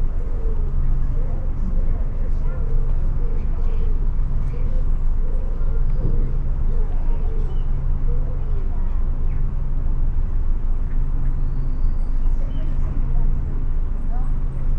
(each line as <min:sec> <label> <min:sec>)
0:00.1 children playing far in the distance 0:14.7